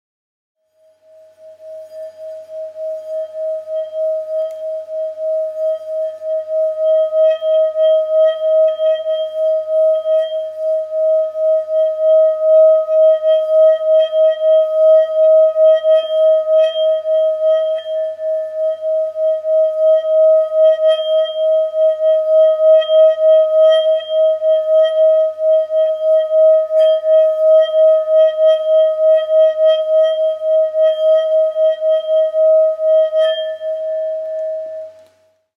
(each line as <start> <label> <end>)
0.6 singing bowl tone 35.2